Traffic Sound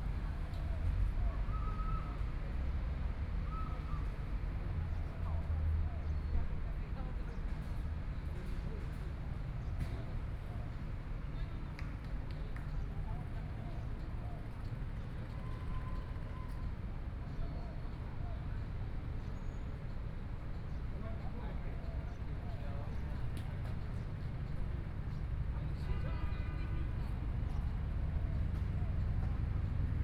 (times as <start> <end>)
7.8 30.0